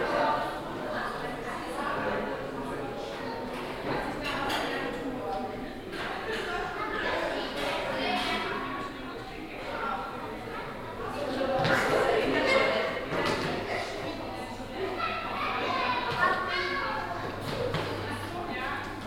visitor ambience 0:00.0 - 0:19.0

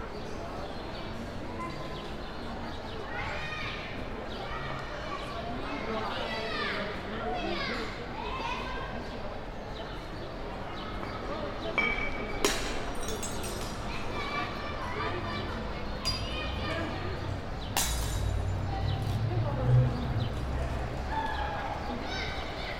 city noise 0:00.0 - 0:22.7
Break a Bottle 0:17.8 - 0:18.4

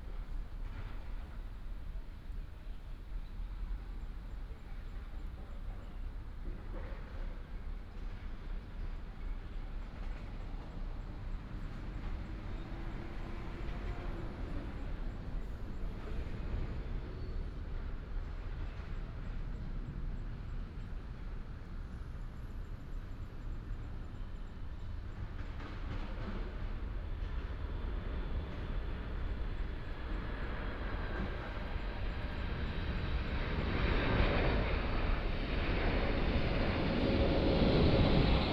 The plane flew through 0:28.2 - 0:38.5

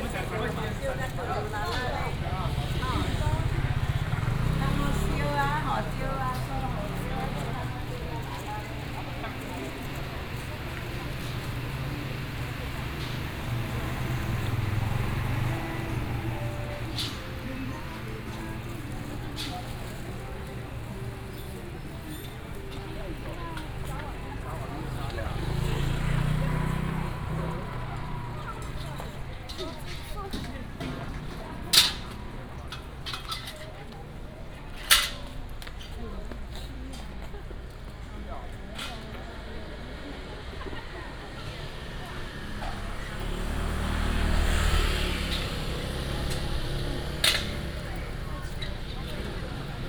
Traffic sound 0:00.0 - 0:49.8

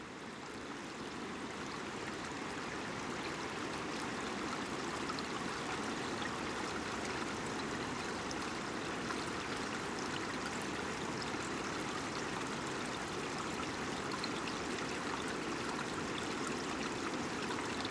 streamlets 0:00.0 - 0:17.9

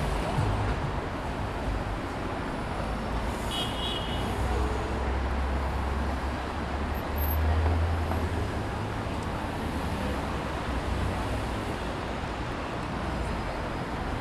tourists surrounding 0:00.0 - 0:14.2

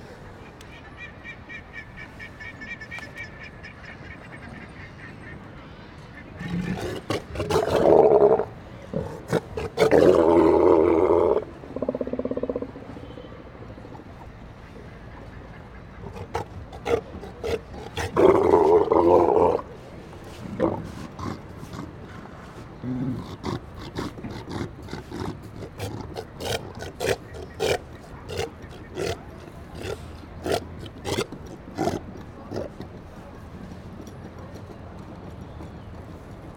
WET TRAFFIC FAR 0:00.0 - 0:36.5
LARGE SEA LIONS 0:06.2 - 0:36.5
BOAT 0:31.4 - 0:36.5

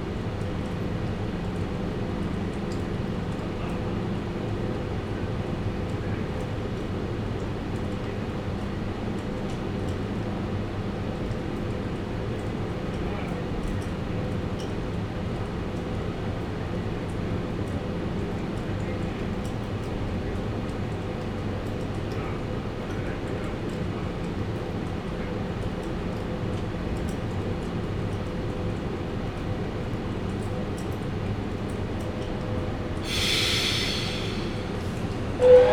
Train stop and departure 0:31.7 - 0:35.7

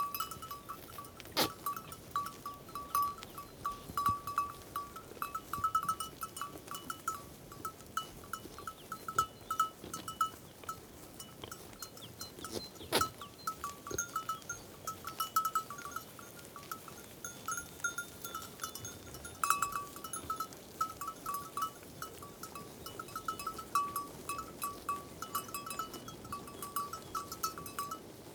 Goats grazing in the meadows 0:00.0 - 0:28.3

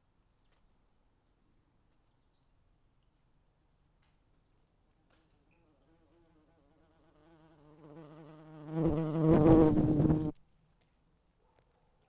bumbkebees fly to the crack 0:07.6 - 0:10.3

